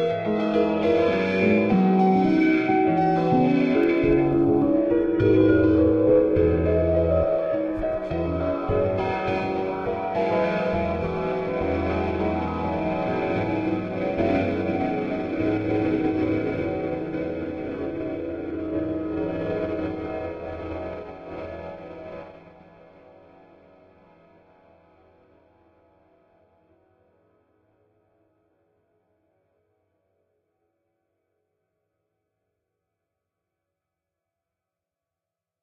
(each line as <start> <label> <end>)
0.0 Piano 25.1